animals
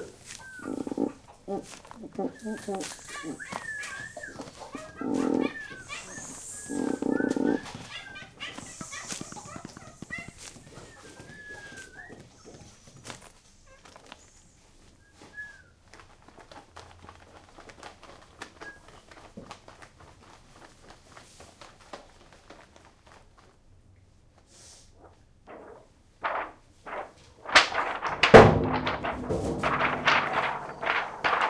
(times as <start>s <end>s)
0.0s 19.2s, 28.0s 31.4s